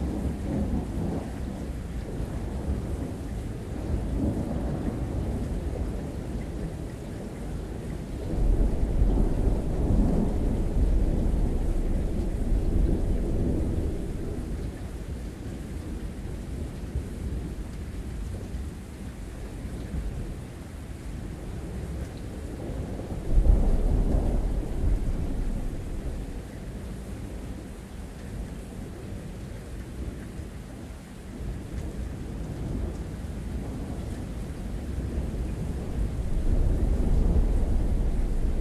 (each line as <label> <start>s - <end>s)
rain 0.0s - 38.6s
thunder 8.2s - 14.6s
thunder 22.7s - 26.5s
thunder 34.9s - 38.6s